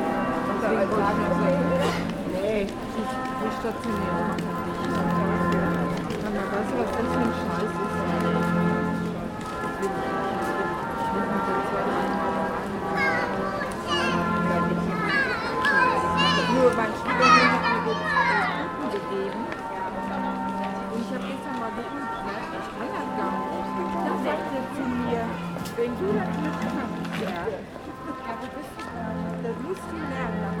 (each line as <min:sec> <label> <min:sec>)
0:00.0 Christmas music 0:30.6